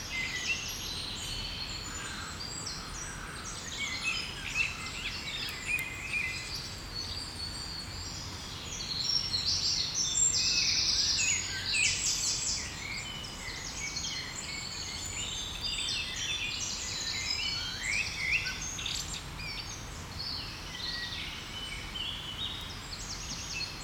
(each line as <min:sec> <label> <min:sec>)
0:00.0 birds 0:23.8
0:00.0 wind in the trees 0:23.8